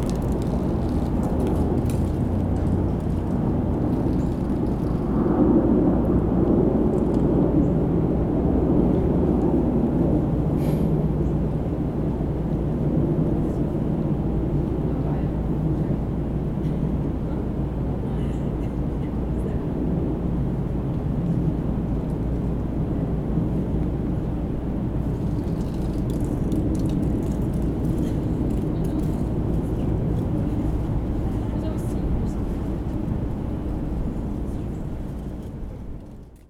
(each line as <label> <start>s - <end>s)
leaves scratching against the ground 0.0s - 5.1s